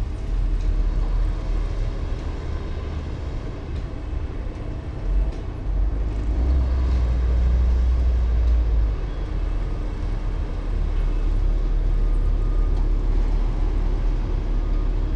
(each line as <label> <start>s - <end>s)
bulldozers 0.0s - 15.1s
excavators 0.0s - 15.1s
trucks during earthwork operations 0.0s - 15.1s